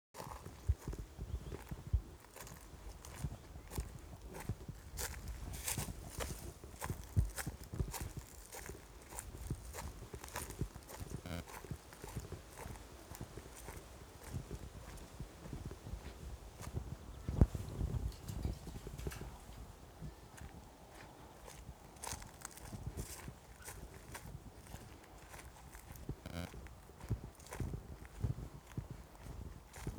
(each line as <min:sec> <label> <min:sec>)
0:00.2 Walking crunchy 0:29.9
0:00.2 wind 0:29.9